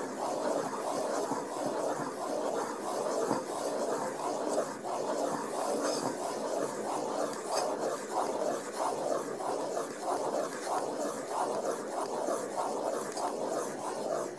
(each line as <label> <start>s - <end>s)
making of drawing 0.0s - 14.3s